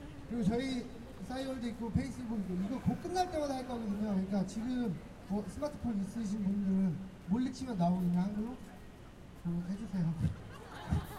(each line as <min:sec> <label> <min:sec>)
0:09.4 Distortion from the speakers 0:11.1